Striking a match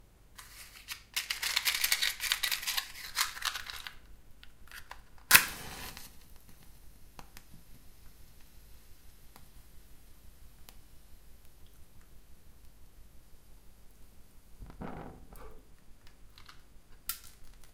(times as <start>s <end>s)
0.4s 8.5s, 16.0s 17.7s